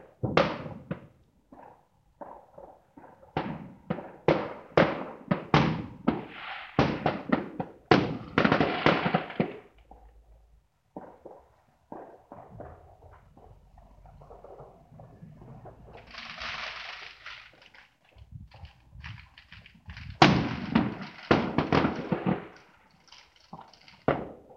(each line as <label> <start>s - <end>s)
Fireworks 0.0s - 24.5s